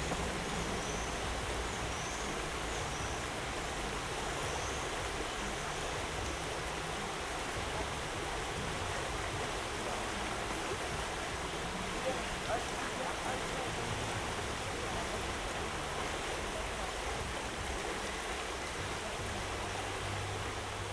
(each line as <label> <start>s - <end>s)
river 0.0s - 20.9s